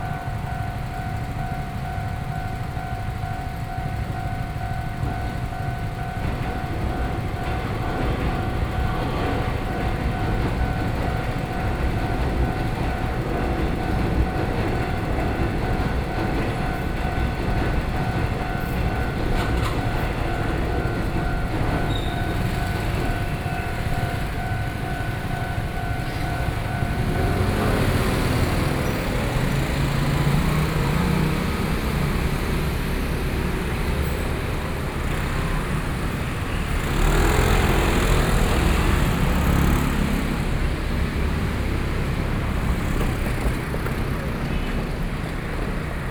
0.0s Railroad crossing 46.1s
0.0s Traffic Sound 46.1s

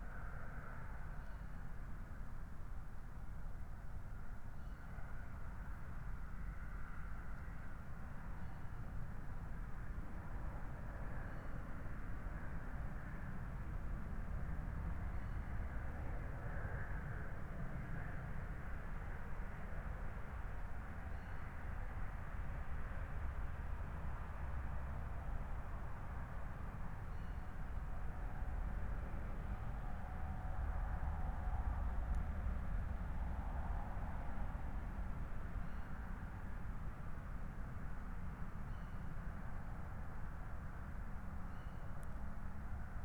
0.0s Trains pass regularly 43.0s
5.0s autobahn traffic 43.0s

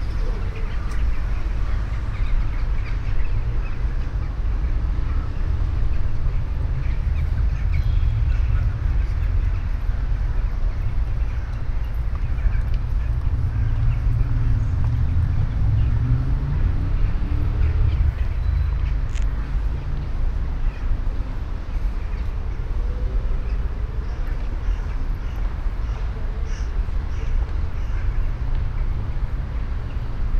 0.0s big groups of crows that gather in a tree 30.3s
0.0s distant traffic above 30.3s

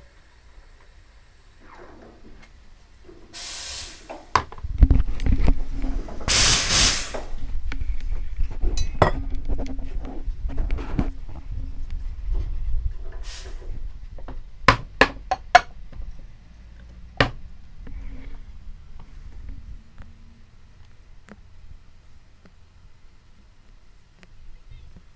3.3s milk being steamed 4.5s
5.8s milk being steamed 7.4s
8.8s clanging of metal cups 9.3s

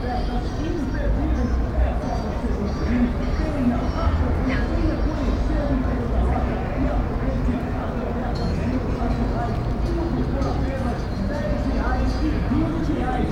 0.0s vehicles 13.3s

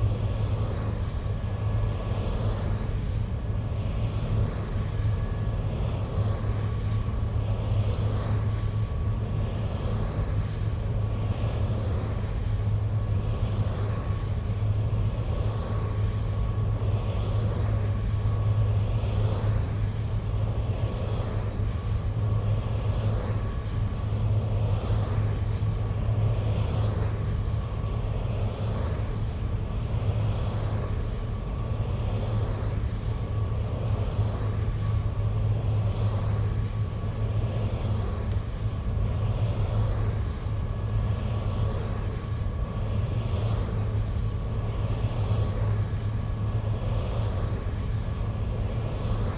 0.0s rotating humming generator 49.3s
0.0s sky and wood larks 49.3s

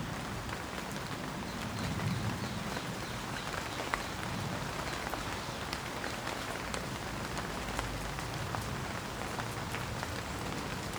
0.0s Rain 10.9s

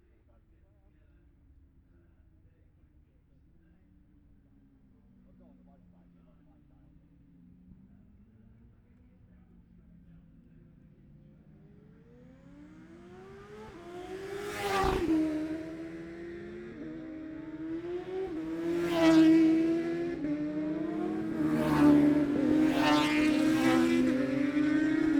9.5s classic superbikes practice 25.1s

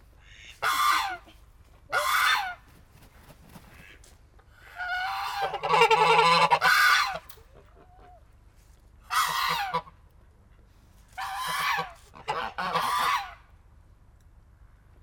0.2s Geese are shouting 2.7s
4.6s Geese are shouting 8.3s
9.0s Geese are shouting 10.0s
11.1s Geese are shouting 13.5s

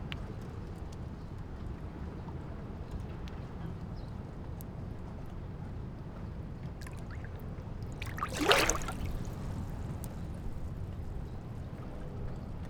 6.7s Wind 12.6s
6.8s Waves and tides 10.8s

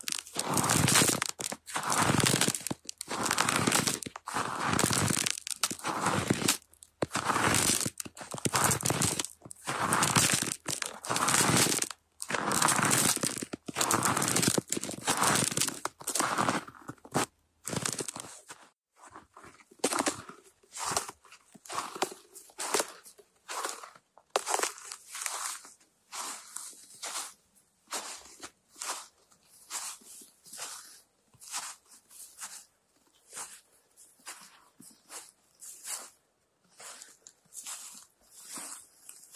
0.0s crispy ice 18.4s
0.0s snow 39.3s
21.7s crispy ice 25.6s

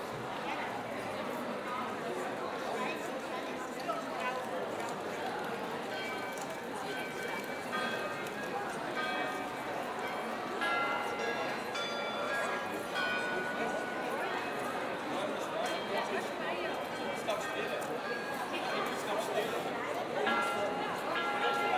0.0s people are chatting 21.7s
5.2s bells of a former tower of the city play some tunes 21.7s

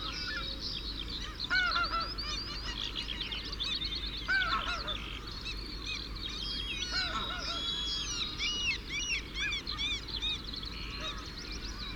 1.2s curlew 3.0s
3.7s curlew 11.9s

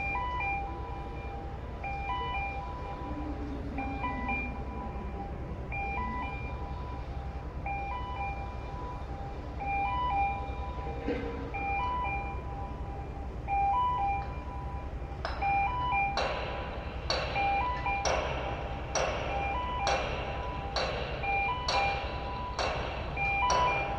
0.0s Crane 23.9s
13.5s work noises 23.9s

